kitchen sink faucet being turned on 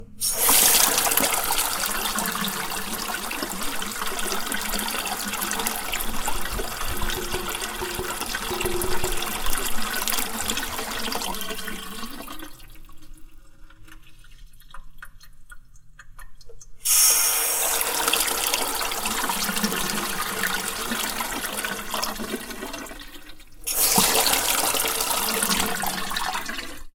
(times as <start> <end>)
0.2 2.8, 16.8 22.2, 23.7 26.2